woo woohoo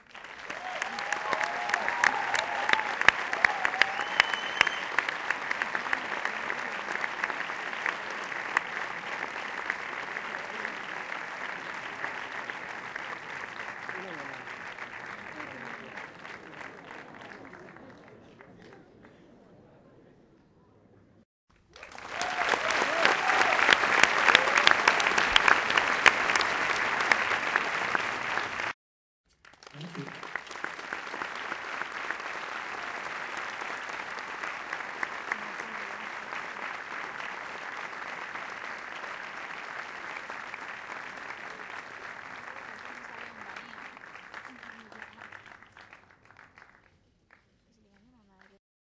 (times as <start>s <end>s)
0.5s 5.0s